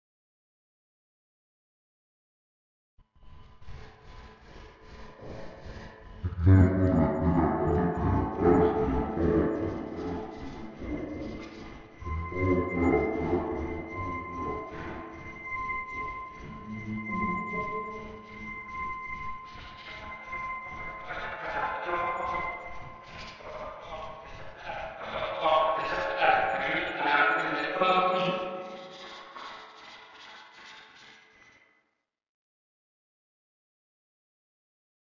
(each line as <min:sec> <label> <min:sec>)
0:06.2 voice 0:15.0
0:16.7 voice 0:17.8
0:21.0 voice 0:22.6
0:23.3 voice 0:29.5